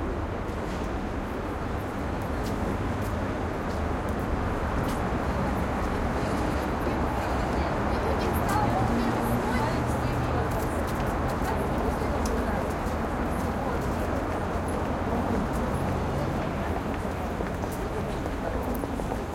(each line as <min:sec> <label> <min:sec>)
0:00.0 pedestrians entering subway station 0:19.3
0:00.0 traffic 0:19.3